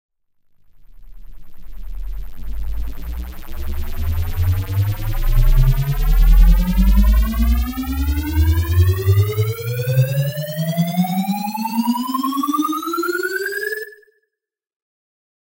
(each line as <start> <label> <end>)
0.7 futuristic riser 13.9